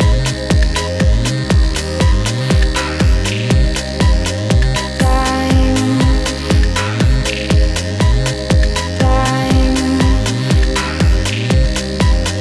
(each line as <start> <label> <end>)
0.0 beat 12.4
0.0 synth bass 12.4
0.0 synth pad 12.4
5.0 voice 7.3
9.0 voice 11.4